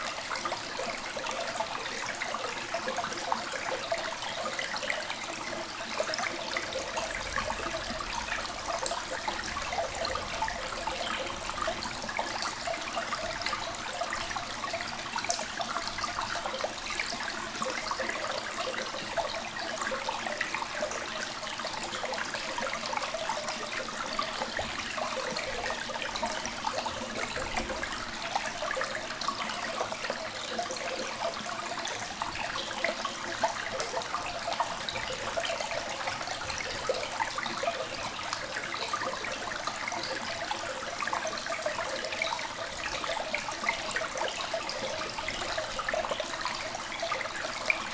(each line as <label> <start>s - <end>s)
small river is flowing 0.0s - 47.9s